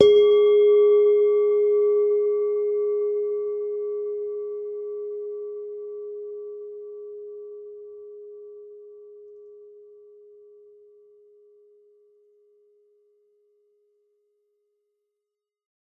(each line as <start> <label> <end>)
0.0 Semi tuned bell tones 9.8